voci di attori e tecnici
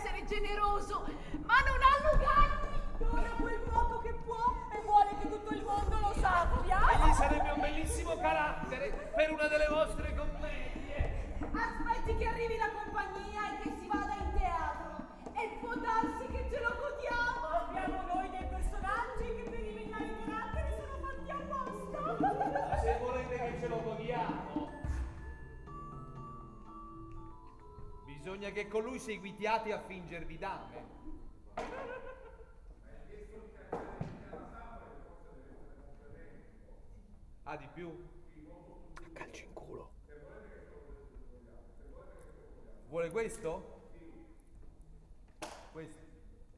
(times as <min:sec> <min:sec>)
0:00.0 0:34.5, 0:38.8 0:40.1